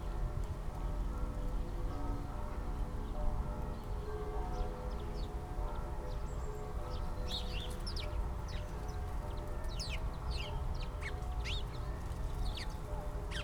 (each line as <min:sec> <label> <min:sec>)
0:00.0 churchbells 0:13.4